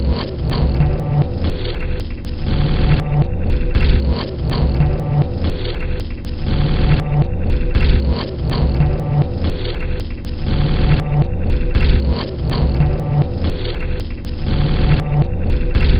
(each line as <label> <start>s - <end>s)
Drum Loop 0.0s - 15.9s